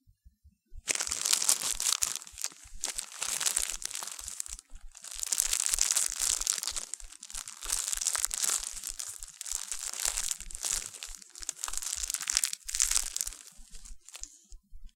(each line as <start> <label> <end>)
0.9 step on fallen-leaf 14.4